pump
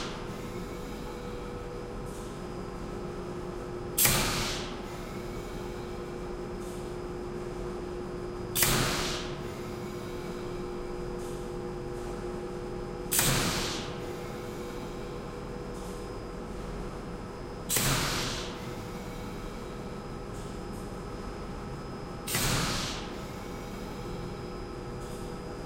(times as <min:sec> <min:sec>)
0:00.0 0:02.4, 0:04.0 0:07.1, 0:08.5 0:12.1, 0:13.1 0:16.0, 0:17.7 0:20.6, 0:22.2 0:25.3